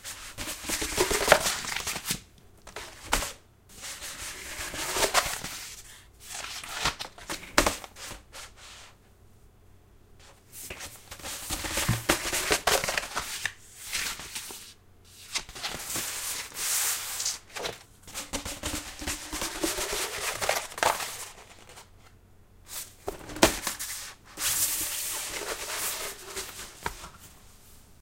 4.0s Unrolling a paper map 8.8s
10.7s Unrolling a paper map 22.1s
22.7s Unrolling a paper map 27.4s

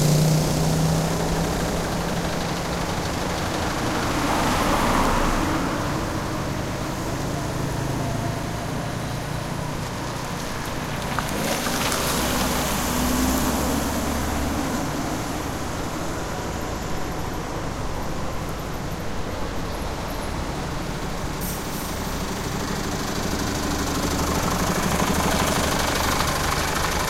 0.0s Light traffic 27.0s

